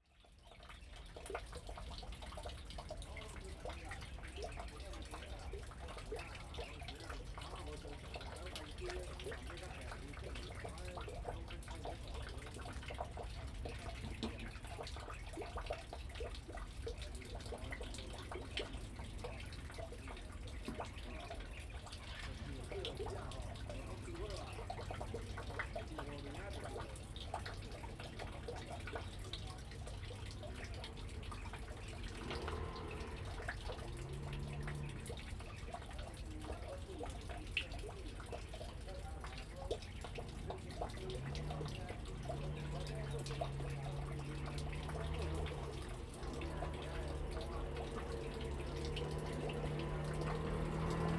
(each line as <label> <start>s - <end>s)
Traffic Sound 1.2s - 51.1s
Birds singing 17.5s - 37.4s